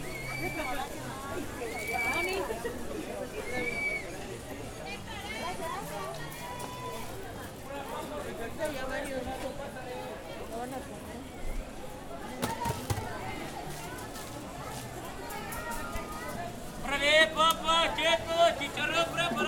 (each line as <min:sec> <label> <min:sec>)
0:00.0 Vendedores 0:19.4